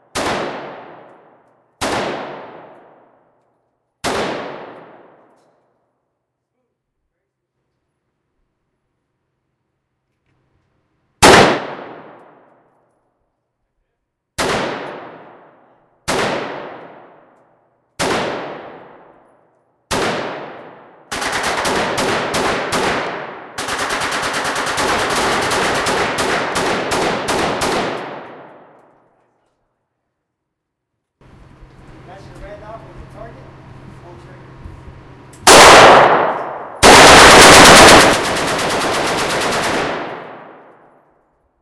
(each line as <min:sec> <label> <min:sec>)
0:00.0 background noise 0:41.6
0:00.0 AK47 and various other gunshots 0:03.3
0:04.0 AK47 and various other gunshots 0:05.3
0:11.2 AK47 and various other gunshots 0:12.5
0:14.4 AK47 and various other gunshots 0:17.4
0:18.0 AK47 and various other gunshots 0:19.2
0:19.9 AK47 and various other gunshots 0:28.8
0:35.4 AK47 and various other gunshots 0:41.1